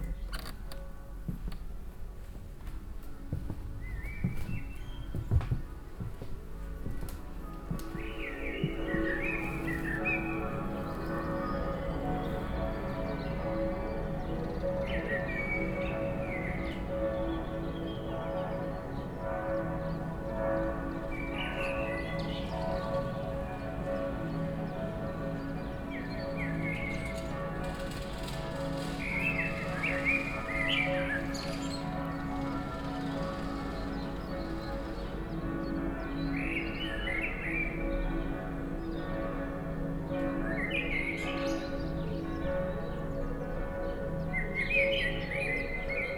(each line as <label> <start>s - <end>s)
Easter bells of all the churches synchronized 4.8s - 46.1s